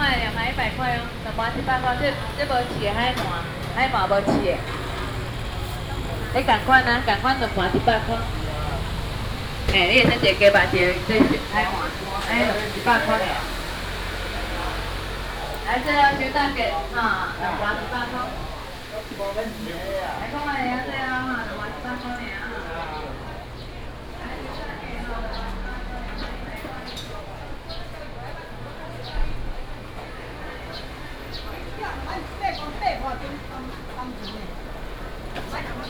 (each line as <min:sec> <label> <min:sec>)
0:00.0 traffic sound 0:35.8
0:00.0 vendors peddling 0:35.8
0:00.0 walking in the Public retail market 0:35.8